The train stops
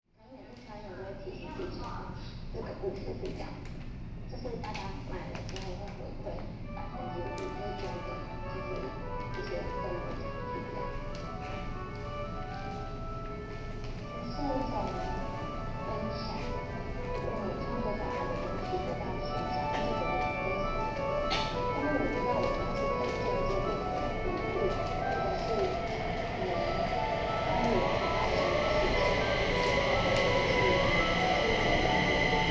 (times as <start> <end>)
7.9 32.5